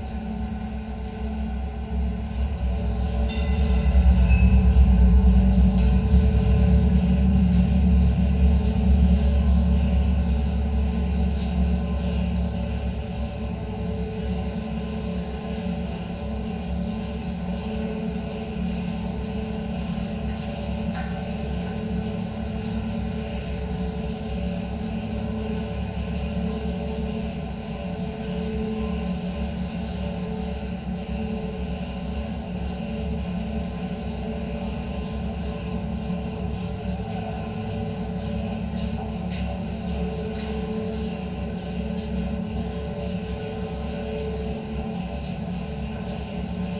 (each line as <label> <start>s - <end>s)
escalators provide a constant drone 0.0s - 46.7s